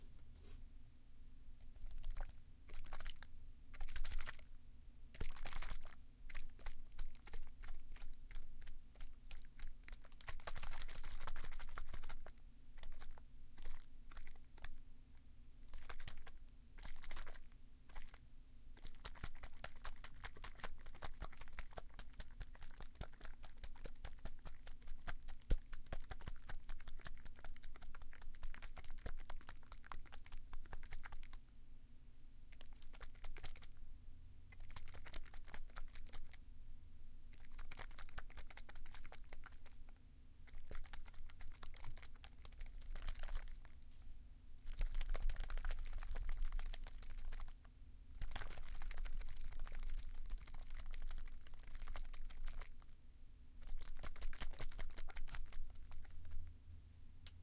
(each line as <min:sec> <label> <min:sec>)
0:01.6 shaking a small bottle with liquid in it 0:04.5
0:05.1 shaking a small bottle with liquid in it 0:14.8
0:15.6 shaking a small bottle with liquid in it 0:31.4
0:32.5 shaking a small bottle with liquid in it 0:33.8
0:34.5 shaking a small bottle with liquid in it 0:36.4
0:37.3 shaking a small bottle with liquid in it 0:44.0
0:44.6 shaking a small bottle with liquid in it 0:53.0
0:53.6 shaking a small bottle with liquid in it 0:56.5